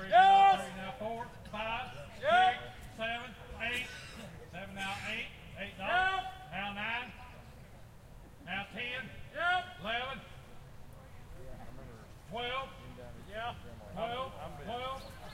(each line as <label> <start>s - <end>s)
People yelling 0.0s - 1.0s